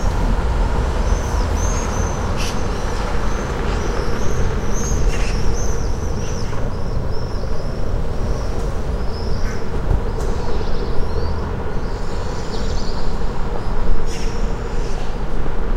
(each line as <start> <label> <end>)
0.0 passersby 7.1
0.0 birds 15.1
0.0 traffic 15.7